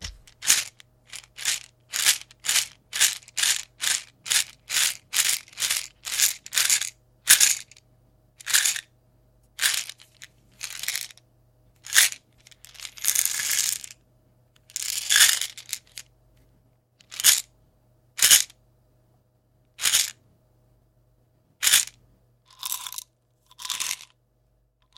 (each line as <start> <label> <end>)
0.0 medicine bottle Handing 2.7